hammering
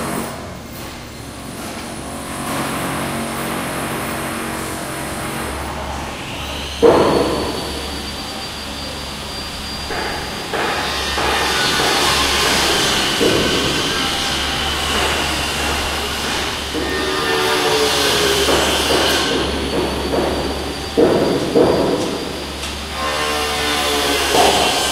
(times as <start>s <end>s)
6.8s 8.2s, 9.5s 24.9s